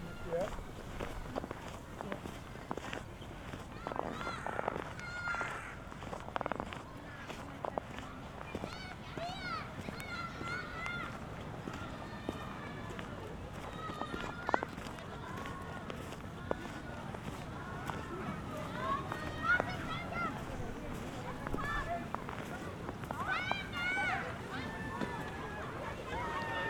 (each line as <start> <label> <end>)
0.0 kids and parents riding sledges 26.6
0.0 snow walking 4.7
18.6 snow walking 26.6